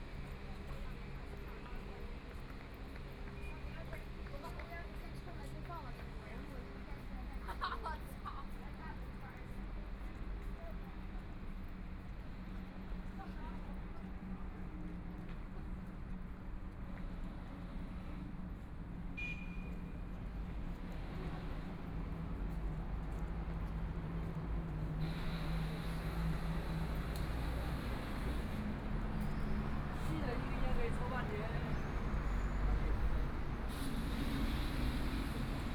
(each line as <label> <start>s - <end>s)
walking in the Street 0.0s - 35.7s
traffic sound 16.8s - 35.7s